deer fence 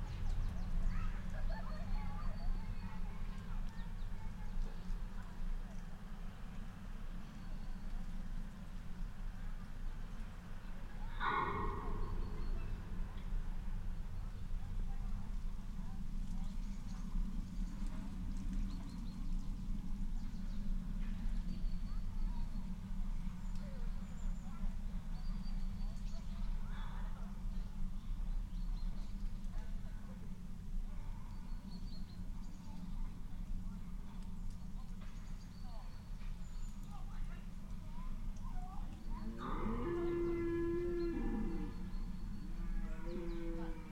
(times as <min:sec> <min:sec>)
0:11.2 0:12.8